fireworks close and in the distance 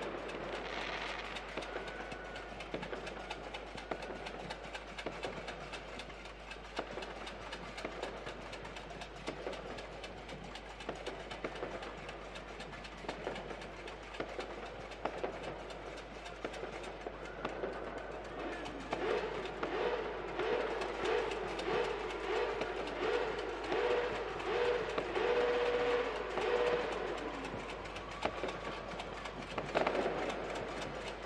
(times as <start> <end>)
0.0 4.4, 16.4 18.0, 18.7 31.2